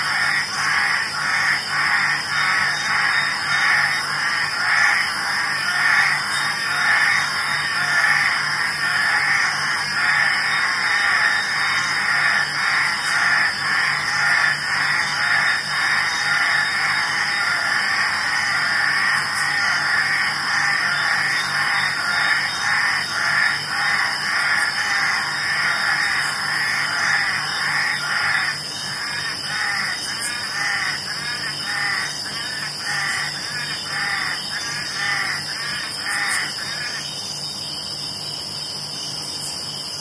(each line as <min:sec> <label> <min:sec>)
0:00.0 cicadas 0:40.0
0:00.0 frogs 0:40.0